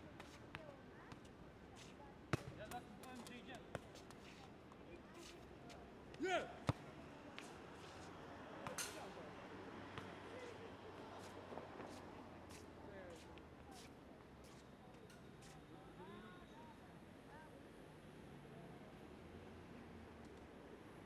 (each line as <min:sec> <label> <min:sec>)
0:03.6 boys playing football 0:14.6